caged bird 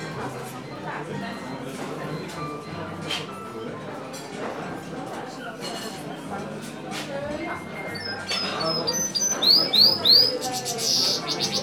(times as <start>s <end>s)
7.8s 11.6s